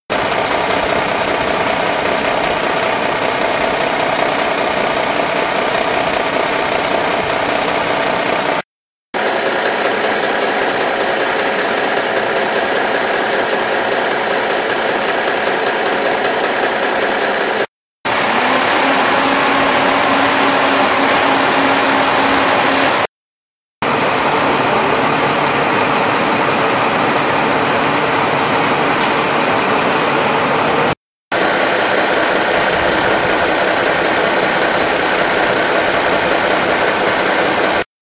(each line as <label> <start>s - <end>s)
Truck Engine Idle 0.1s - 8.6s